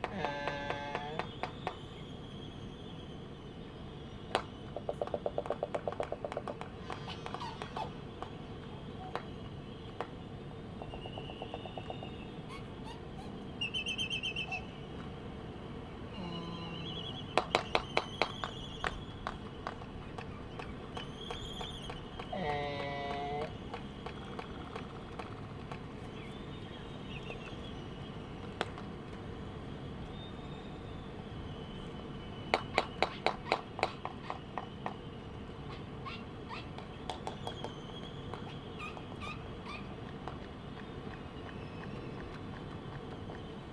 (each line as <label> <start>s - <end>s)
laysan albatross dancing 17.4s - 26.1s